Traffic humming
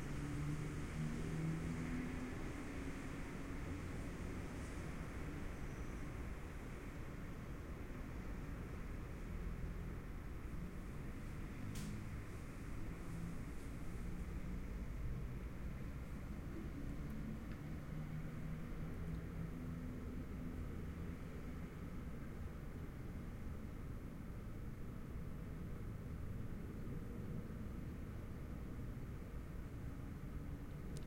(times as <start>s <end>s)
7.7s 24.9s